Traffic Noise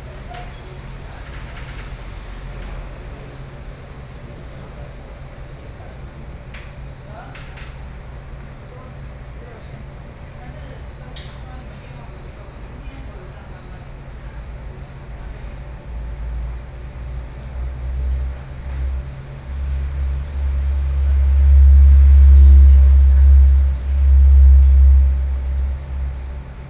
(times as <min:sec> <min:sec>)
0:16.0 0:26.6